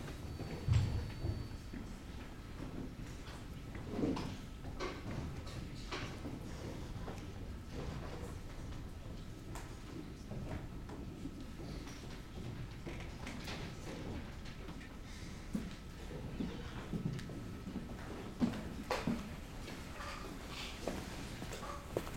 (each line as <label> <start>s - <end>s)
steps 16.9s - 22.1s